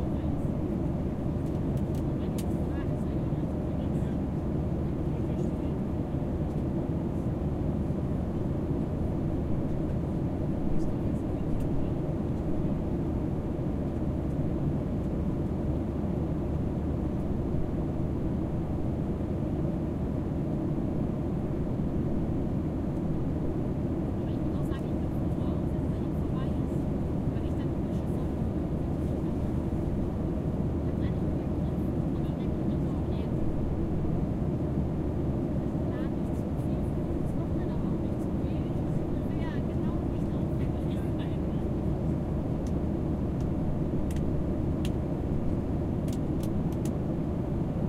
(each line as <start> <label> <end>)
0.0 airplane flying 47.8